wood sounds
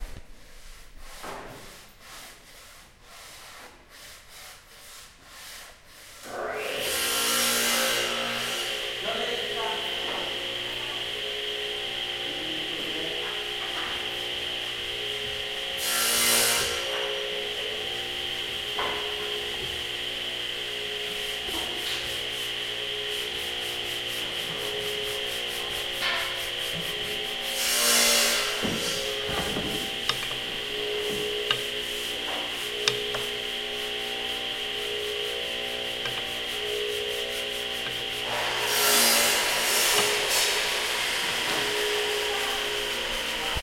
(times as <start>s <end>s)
20.8s 43.6s